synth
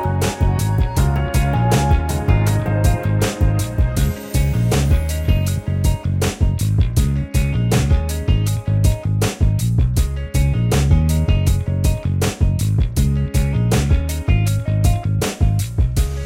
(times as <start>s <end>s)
0.0s 5.6s